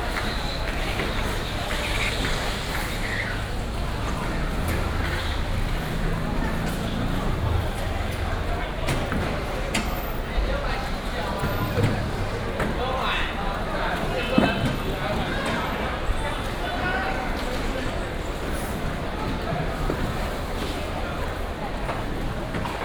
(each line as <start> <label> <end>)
0.0 Traffic sound 22.8